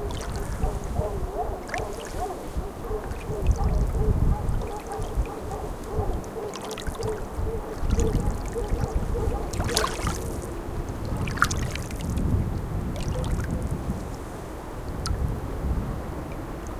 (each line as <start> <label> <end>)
0.0 dogs barking in a distance 11.6
0.0 water 16.7
0.0 wind 16.7
13.0 dogs barking in a distance 14.3